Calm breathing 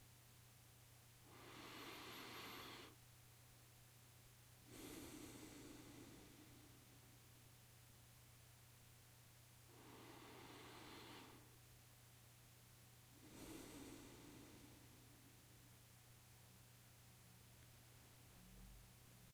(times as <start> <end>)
1.2 3.0, 4.6 7.2, 9.6 11.6, 13.1 15.6